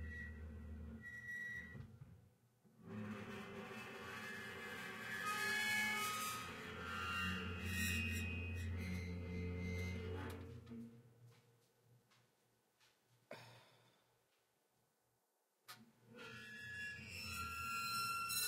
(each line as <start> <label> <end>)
0.0 Oven Grinds Squeaks 1.8
2.9 Oven Grinds Squeaks 10.6
16.2 Oven Grinds Squeaks 18.4